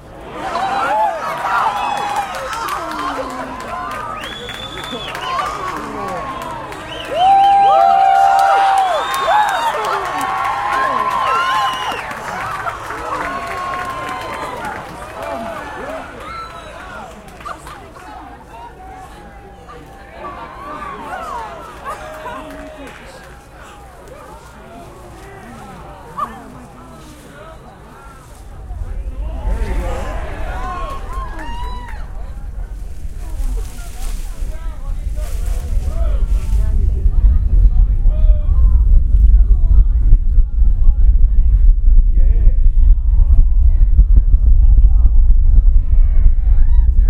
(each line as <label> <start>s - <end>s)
crowd noise 0.0s - 47.0s
Shuttle Launch 28.4s - 47.0s